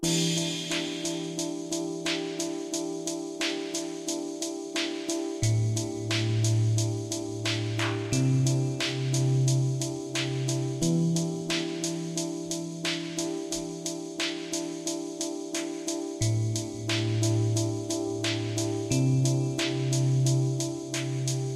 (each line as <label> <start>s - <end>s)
music loop 0.0s - 21.5s